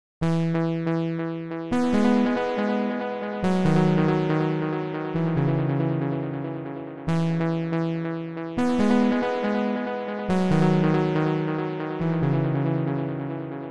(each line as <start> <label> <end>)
1.8 Synth 13.7